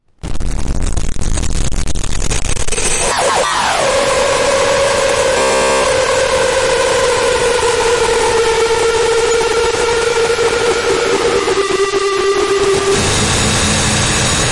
3.0s spooky noise 14.5s

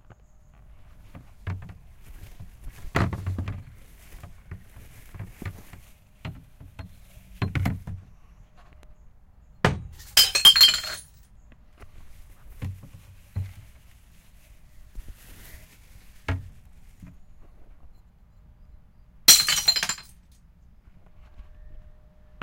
9.7s Glass jars falling and breaking 11.2s
19.3s Glass jars falling and breaking 20.2s

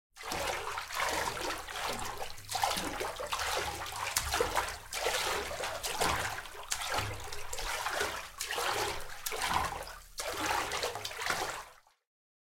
0.2s Swimming - Slow 02 12.0s

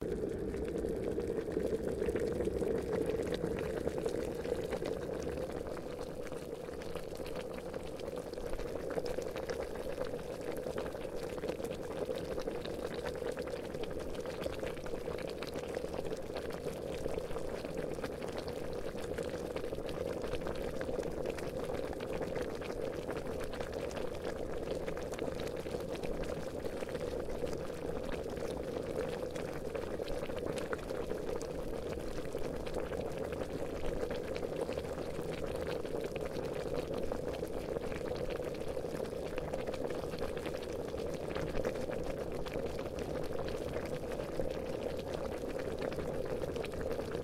0.0s Boiling water 47.2s

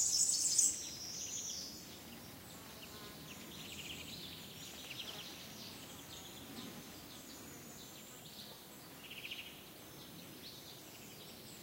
0.0s Blackbird 9.6s
0.0s Warbler 11.6s
0.0s insects flying around 11.6s
0.0s soft wind on trees 11.6s

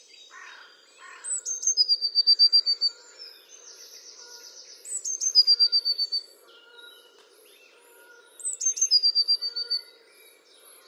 0.0s Blackbird 10.8s
0.0s Song Thrush 10.8s
0.3s Great Spotted Woodpecker 9.9s
0.3s pheasant 9.9s
0.3s Blackbird Alarm Call 10.1s
5.4s peacock 8.5s

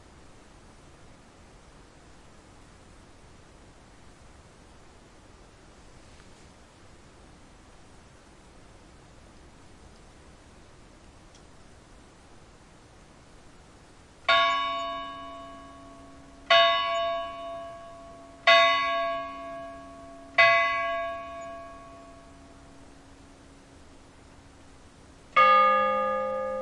14.3s high bell 4 times 23.0s
14.3s lower bell tolling the hour 12 times 26.6s
14.3s similar clock somewhere on the distant side 22.6s

